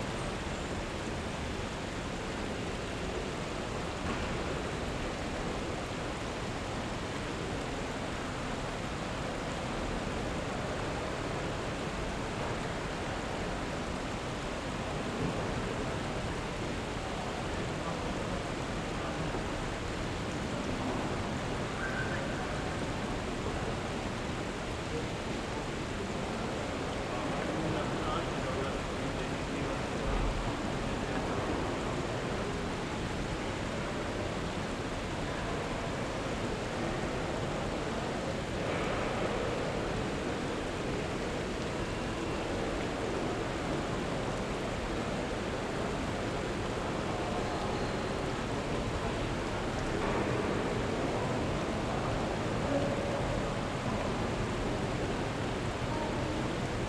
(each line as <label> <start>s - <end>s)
water streaming by 0.0s - 56.8s
people talking 17.0s - 32.8s
people talking 45.1s - 55.3s
people talking 55.9s - 56.8s